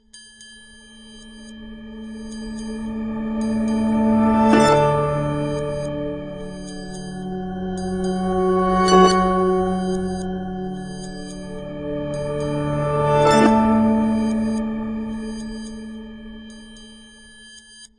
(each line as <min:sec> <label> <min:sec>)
0:00.3 triangle 0:17.2
0:01.9 harp 0:16.3